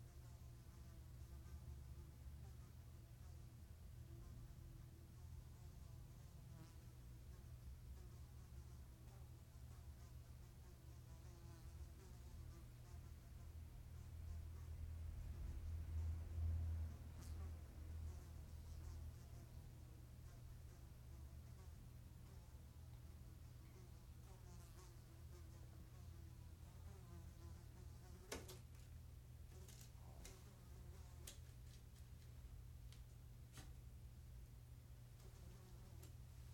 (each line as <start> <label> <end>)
0.0 Fly at home 36.5
0.0 mosquito voando de noite dentro de casa 36.5